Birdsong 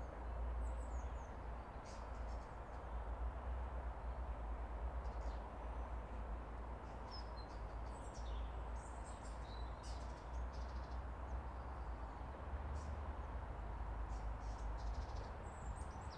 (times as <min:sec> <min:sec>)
0:14.1 0:16.1